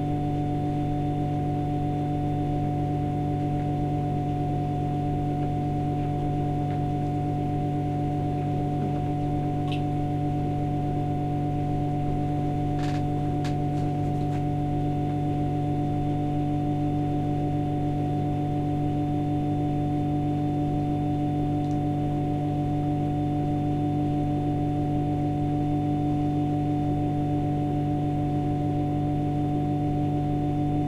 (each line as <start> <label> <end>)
0.0 electric humm from shower 30.8